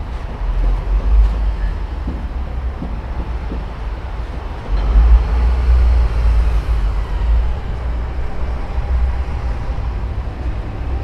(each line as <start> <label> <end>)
0.0 city noises 11.0